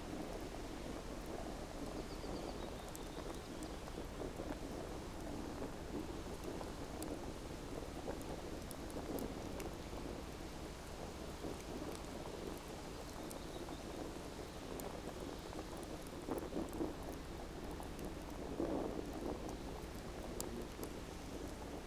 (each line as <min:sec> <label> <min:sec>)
0:00.0 Campfire 0:21.8